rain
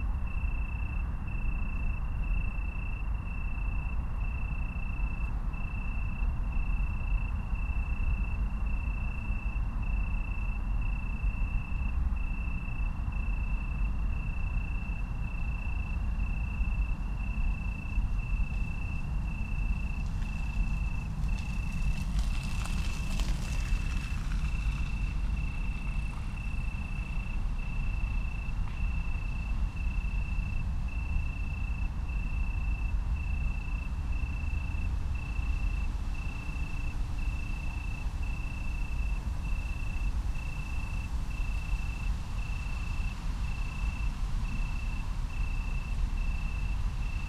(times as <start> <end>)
17.4 30.8, 33.7 47.2